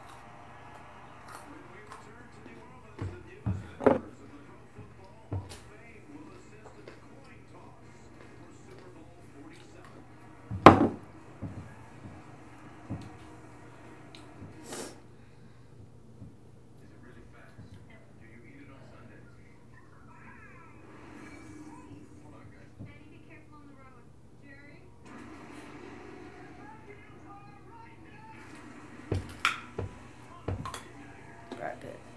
smoking hash oil 0:00.0 - 0:19.0

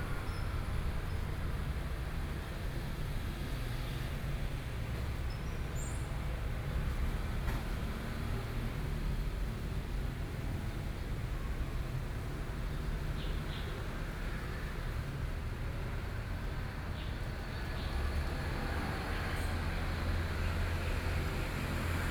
traffic noise 0:00.0 - 0:22.1

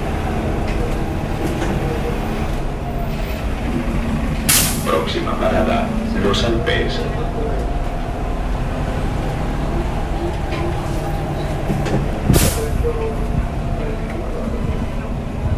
Voces 0:00.0 - 0:15.5
buses 0:00.0 - 0:15.5
carros 0:00.0 - 0:15.5

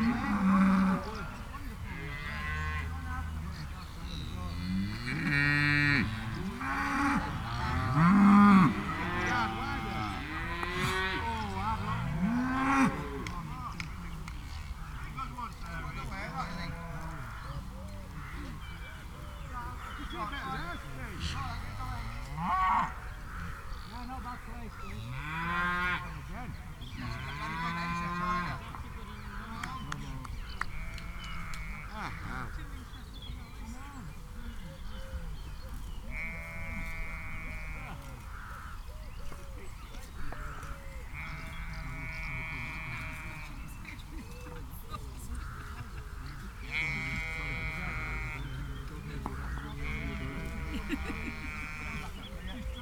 cow chorus 0:00.0 - 0:13.4
traffic noise 0:35.3 - 0:52.8
cow chorus 0:45.5 - 0:52.8

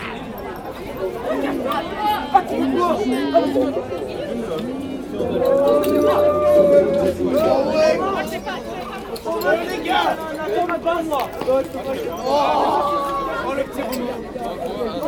Drunk people 0:03.7 - 0:10.3
quarter-world music 0:04.6 - 0:10.1

